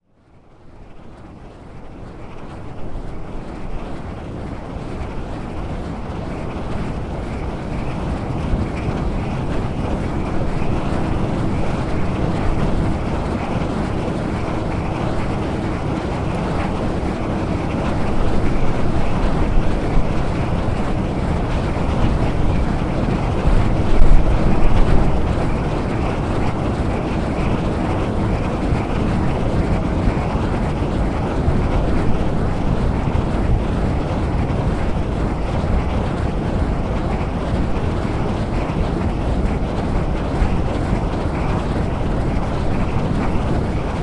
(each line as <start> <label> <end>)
0.0 wind generator 44.0
0.0 wind 44.0